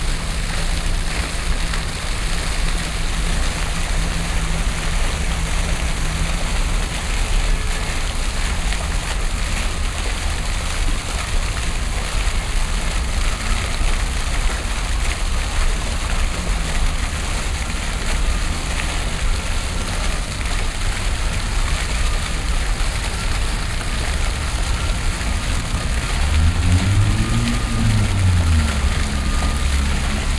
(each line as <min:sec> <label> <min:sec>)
0:00.0 fountain 0:30.3